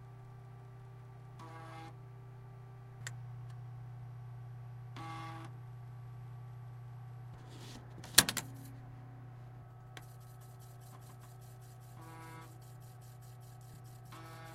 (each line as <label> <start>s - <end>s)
computer's hum 0.0s - 14.5s
floppy disk 7.4s - 8.9s